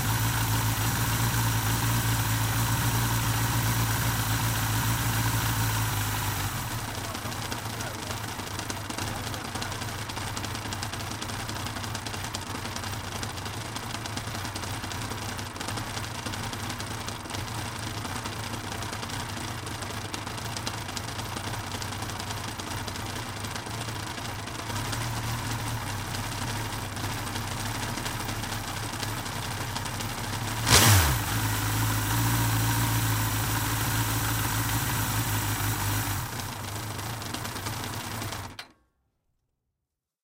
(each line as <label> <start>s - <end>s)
engine sounds while the engine was cold 0.0s - 38.7s